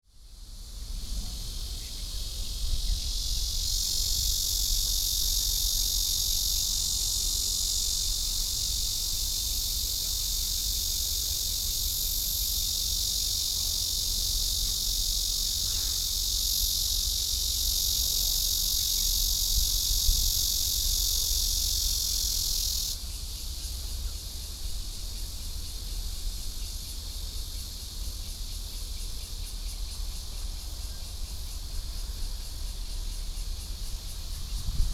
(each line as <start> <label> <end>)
0.1 Cicada sounds 34.9